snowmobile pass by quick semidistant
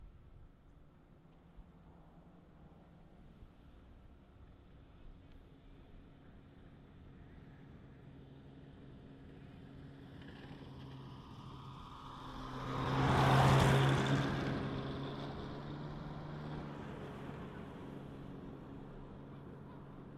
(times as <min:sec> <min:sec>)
0:06.5 0:20.1